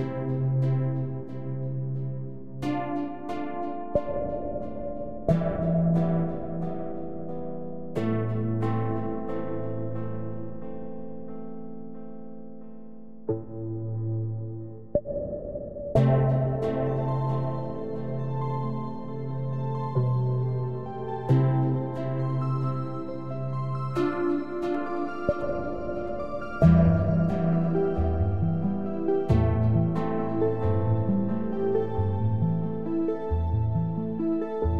synth 0.0 - 10.7
synth 13.3 - 34.7

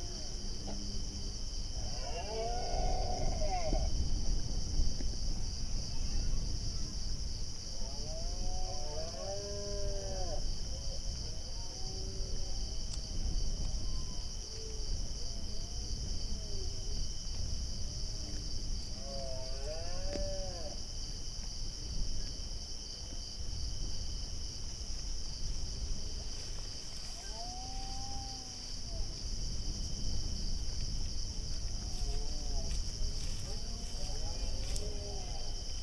crickets 0.0 - 35.8
male Red Deer roaring 1.8 - 3.9

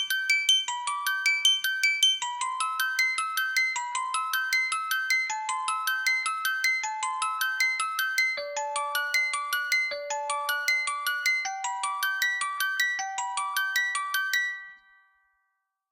Music Box Playing Prelude in C 0.0 - 15.4

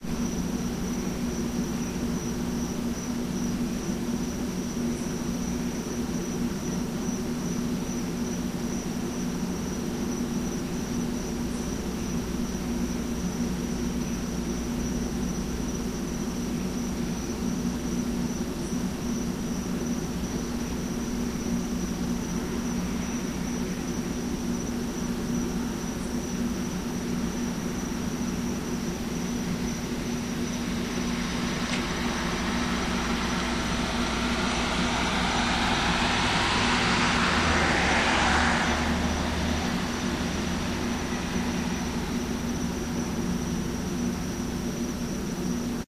dozen cop cars 9.8 - 45.5
Police helicopter 10.7 - 44.8

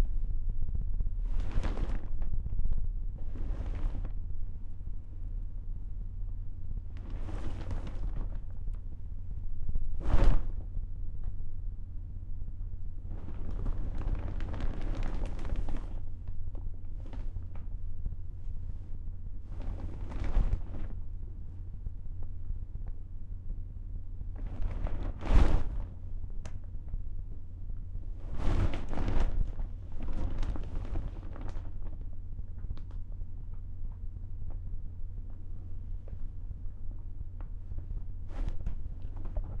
plastic sheet being bent repeatedly 1.2 - 4.2
plastic sheet being bent repeatedly 7.0 - 8.8
plastic sheet being bent repeatedly 9.9 - 10.8
plastic sheet being bent repeatedly 13.1 - 17.6
plastic sheet being bent repeatedly 19.4 - 21.1
plastic sheet being bent repeatedly 24.4 - 26.0
plastic sheet being bent repeatedly 28.1 - 33.0
plastic sheet being bent repeatedly 38.3 - 39.6

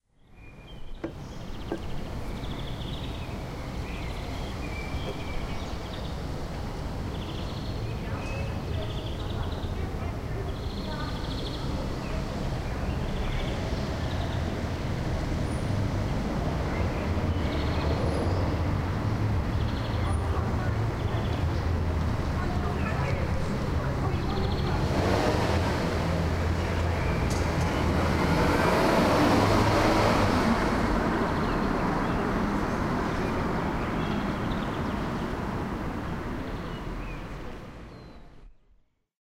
birds are tweeting 0.0 - 38.7
cars 0.7 - 38.4
bus is driving by 1.7 - 37.9
people talking 7.9 - 13.7
people talking 19.8 - 29.0

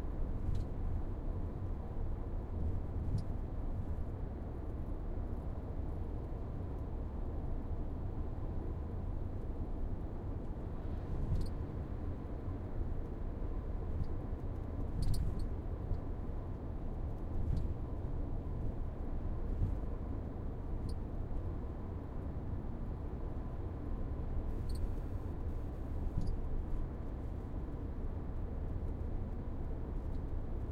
car driving on a motorway 0.0 - 30.7

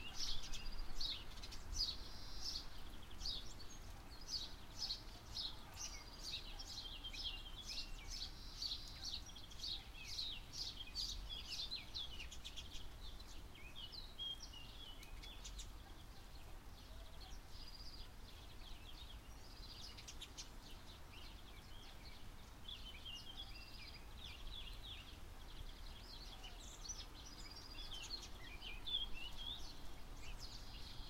birds 0.0 - 31.0
mild rain 0.0 - 31.0

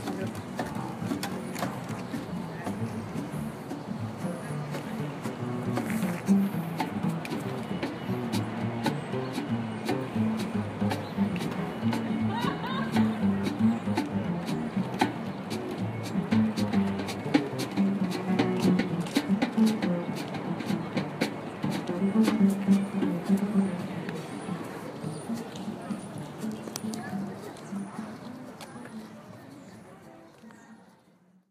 small jazz band playing 0.0 - 27.4
people chatting 0.0 - 31.4
bird song 7.8 - 15.7

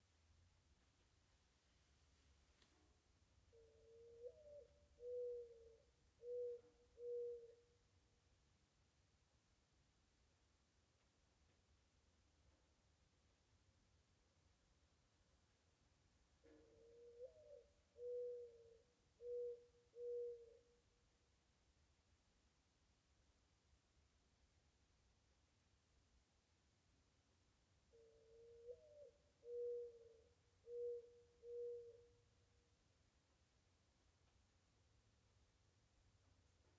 gently cooing mourning dove 2.7 - 8.0
gently cooing mourning dove 16.3 - 21.0
gently cooing mourning dove 27.7 - 32.8

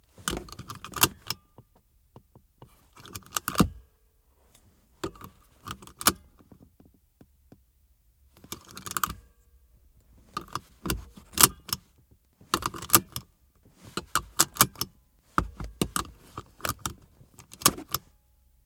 seatbelts lock unlock 0.2 - 1.7
seatbelts lock unlock 2.9 - 3.8
seatbelts lock unlock 5.0 - 6.6
seatbelts lock unlock 8.4 - 9.3
seatbelts lock unlock 10.3 - 13.3
seatbelts lock unlock 13.9 - 18.1

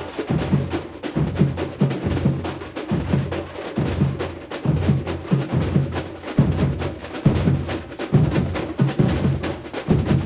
drum 0.0 - 10.2

